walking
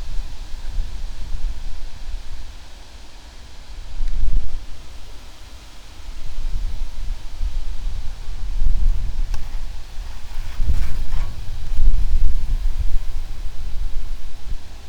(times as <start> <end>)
9.3 13.7